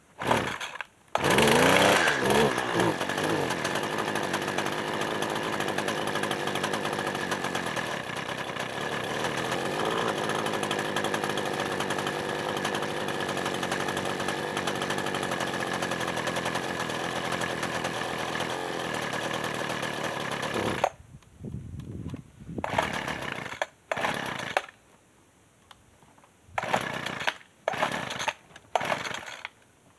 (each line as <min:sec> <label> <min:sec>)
0:00.2 Poorly running hedge trimmer 0:21.0
0:22.6 Poorly running hedge trimmer 0:24.7
0:26.6 Poorly running hedge trimmer 0:29.4